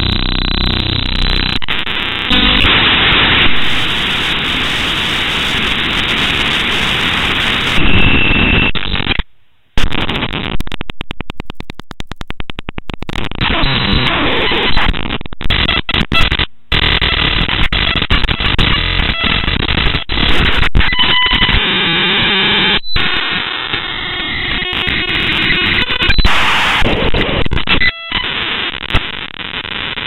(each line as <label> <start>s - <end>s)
Broken Radar 0.0s - 22.7s